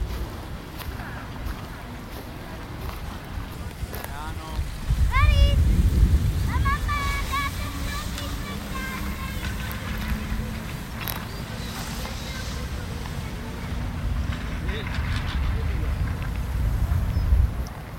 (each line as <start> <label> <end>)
0.0 steps on the melting springtime snow 5.5
0.0 voices 17.4
0.0 mecanics of chairlifts 17.9
0.0 skiers 17.9
0.0 wind 17.9
6.2 steps on the melting springtime snow 14.4